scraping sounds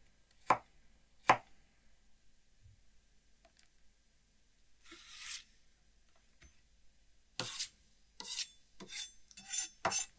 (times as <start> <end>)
4.8 5.5